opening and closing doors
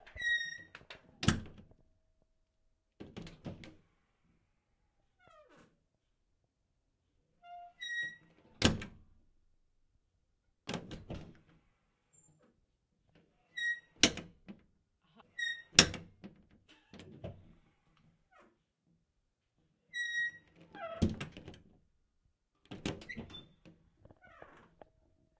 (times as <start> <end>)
20.6 21.7, 22.7 24.8